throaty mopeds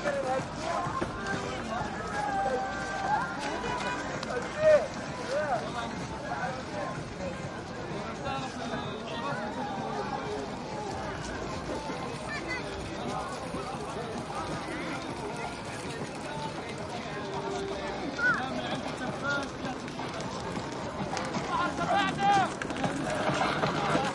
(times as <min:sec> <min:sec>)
0:18.5 0:24.1